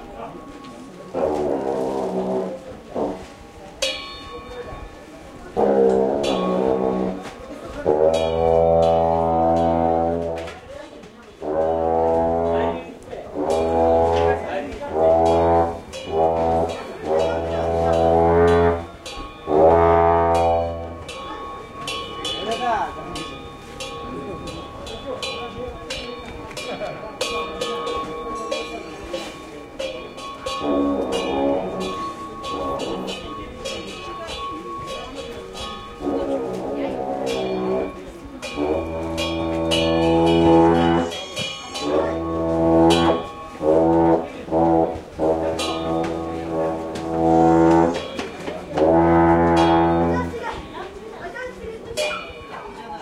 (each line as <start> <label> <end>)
0.0 percussion gong instrument 10.8
0.0 traditional horn (lingm) 53.0
11.4 percussion gong instrument 53.0
15.0 drum 50.1